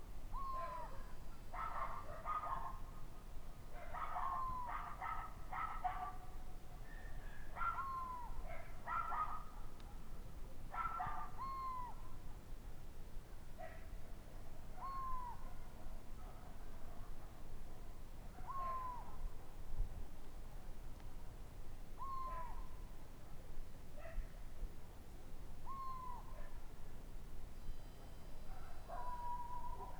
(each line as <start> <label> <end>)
0.3 bird sound at night 2.4
1.6 dogs 2.8
3.8 dogs 6.3
6.9 dogs 7.9
8.5 dogs 9.5
10.7 dogs 11.4
10.8 bird sound at night 12.1
14.8 bird sound at night 15.6
18.4 bird sound at night 19.3
22.0 bird sound at night 22.7
25.6 bird sound at night 26.6
27.6 bird sound at night 29.9